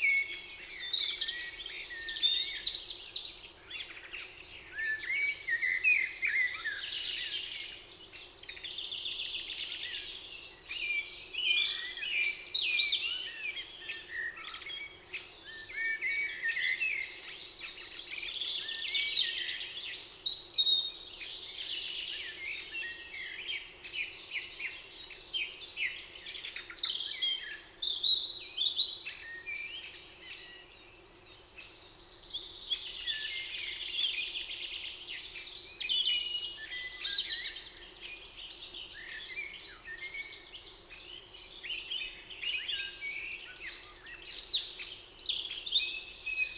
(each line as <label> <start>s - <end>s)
Common blackbird 0.0s - 46.5s
Common robin 0.0s - 46.5s
Eurasian Blackcap 0.0s - 46.5s
Eurasian Blue Tit 22.2s - 46.5s